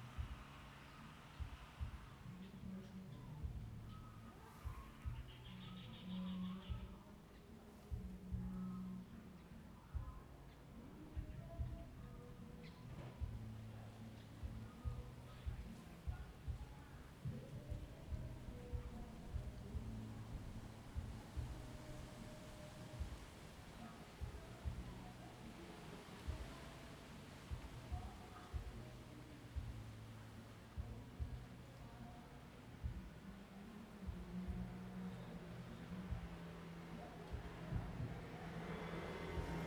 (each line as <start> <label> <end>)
0.0 Birdsong 39.6
34.9 Traffic Sound 39.6